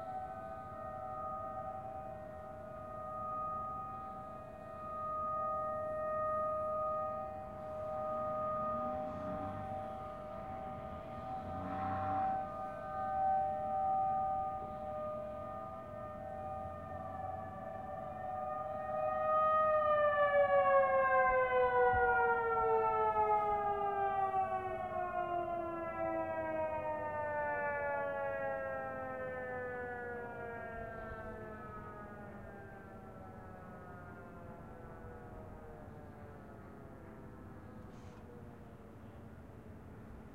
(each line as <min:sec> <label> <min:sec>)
0:00.0 Tornado warning siren 0:40.3